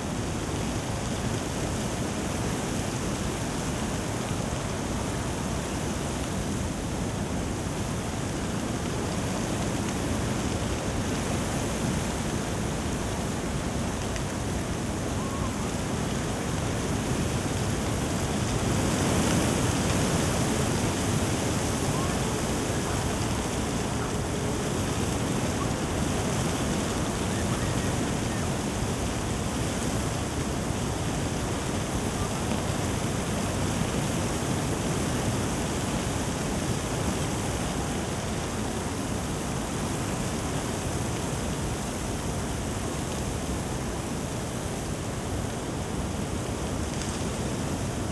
wind 0.0 - 48.1

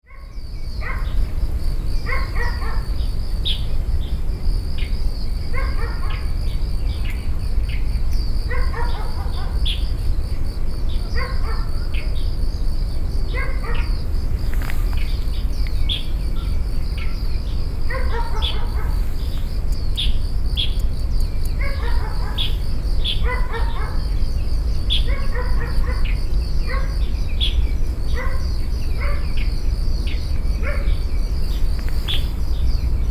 bird 13.3 - 33.1
dog 17.9 - 19.0
dog 21.6 - 22.6
dog 23.2 - 24.0

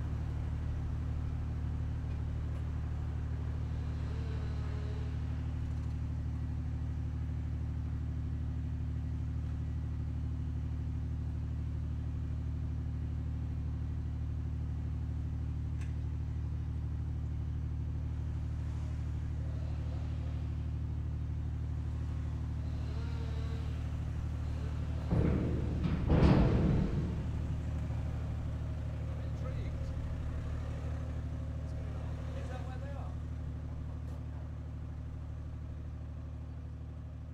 ferry arriving 23.6 - 36.0

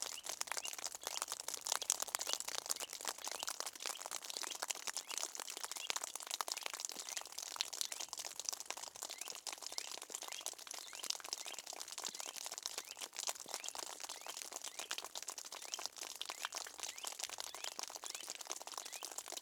water dripping on the ground 0.0 - 19.4

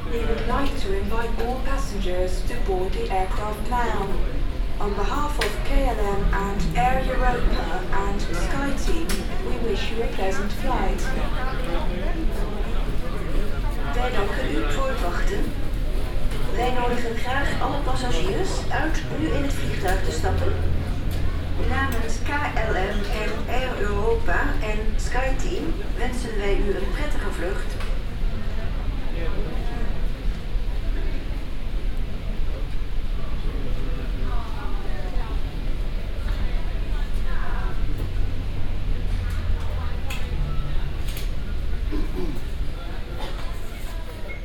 Airport announcements 0.0 - 12.9
Airport announcements 13.8 - 28.0

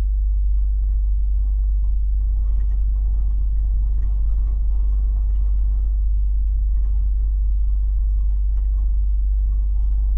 low frequencies throbbing everything 0.0 - 10.1

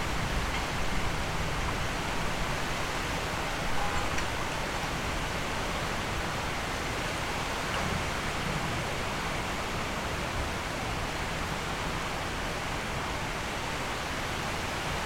heavy rain with hailstone 0.0 - 15.0

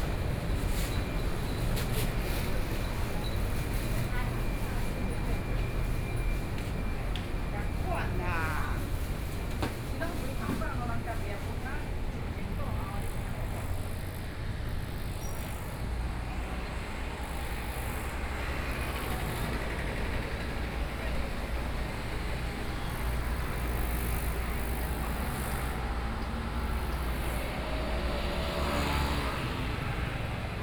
Traffic Sound 0.0 - 30.6
walking in the traditional market 0.0 - 30.6

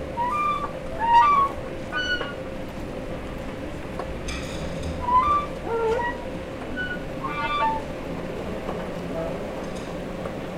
Escelator noises 0.0 - 2.4
Escelator noises 4.8 - 9.4

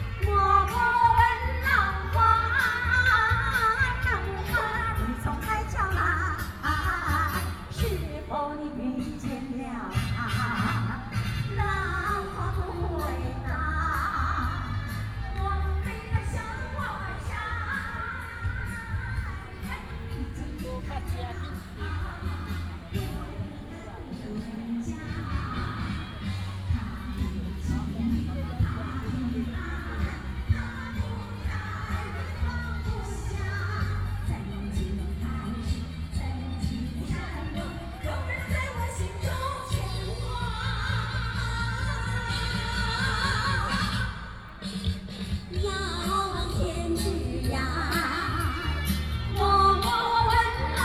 Walking around in the park 0.0 - 50.8
Traffic Sound 15.2 - 33.5

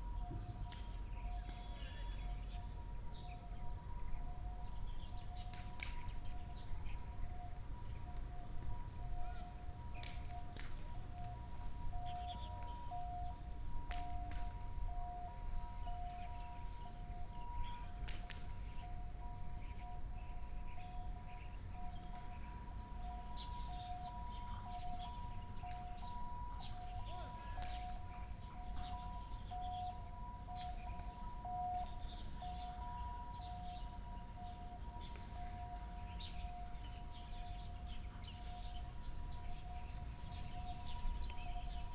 ambulance 0.0 - 41.9
Birds sound 11.9 - 12.9

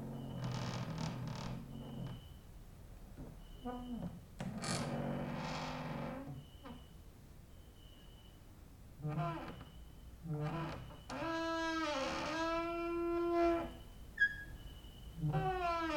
creaking with wooden doors 0.0 - 2.4
creaking with wooden doors 3.2 - 6.9
cricket outside 6.4 - 8.4
creaking with wooden doors 9.0 - 14.6
creaking with wooden doors 15.2 - 15.9

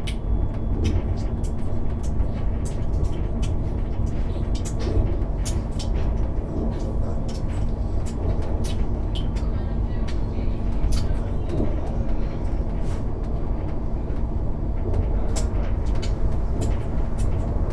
train engine 0.0 - 17.7

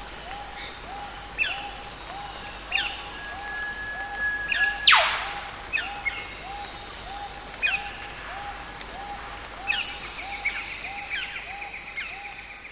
whip birds 4.8 - 5.6

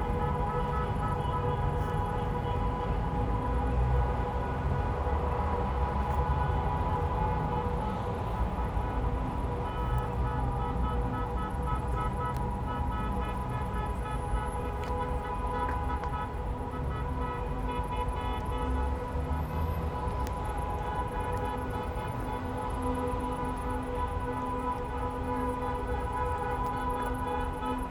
motorcade passes with horns blaring 0.0 - 27.9
traffic 0.0 - 27.9

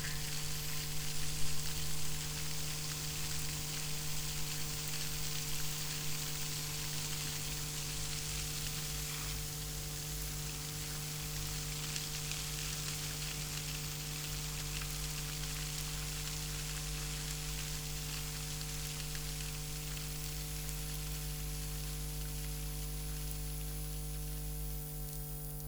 fountains 0.0 - 23.8
electromagnetic field (the work of pump motors) 0.0 - 25.6

